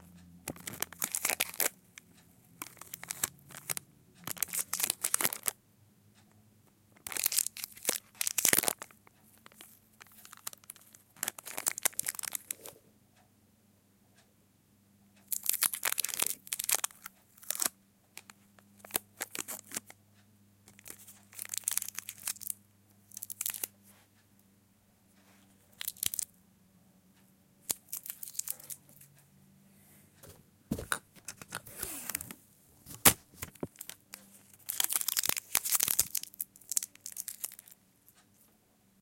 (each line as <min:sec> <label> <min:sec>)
0:30.7 Candy Wrapper 0:37.8